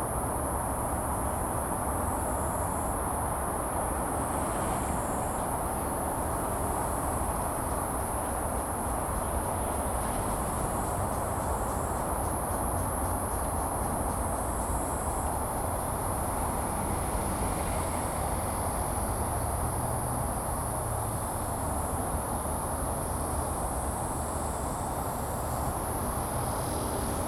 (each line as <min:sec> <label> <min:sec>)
0:04.6 Cicada cry 0:19.7